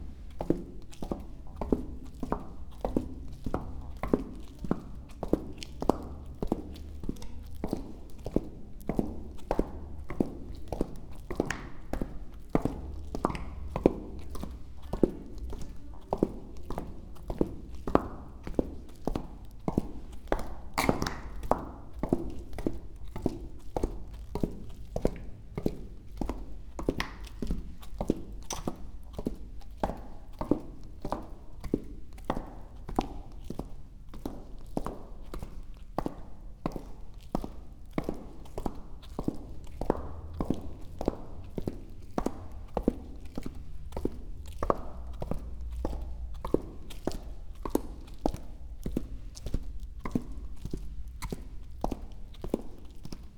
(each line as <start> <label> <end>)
0.0 walking, with clogs 53.3